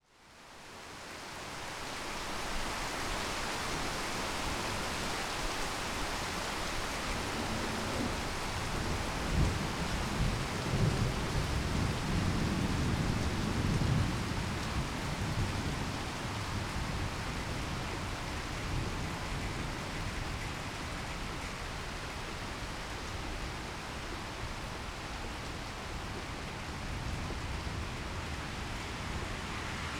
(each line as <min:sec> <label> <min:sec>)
0:00.1 heavy rain 0:29.9
0:22.0 vehicles passing by in the wet street 0:29.9